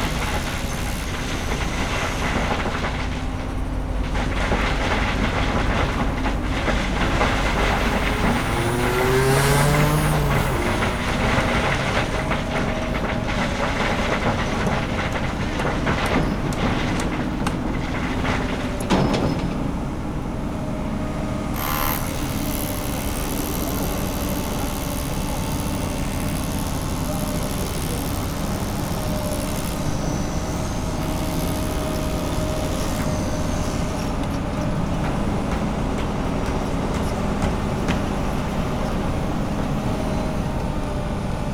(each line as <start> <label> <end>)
0.0 40 workers 41.5
0.0 Huge construction works 41.5
4.0 cranes 14.6
21.4 cranes 35.7